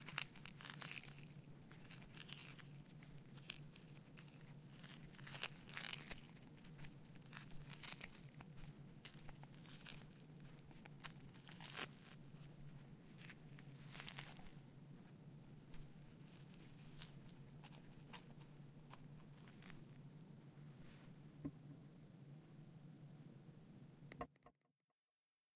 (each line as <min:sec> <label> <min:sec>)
0:00.0 someone walking 0:20.0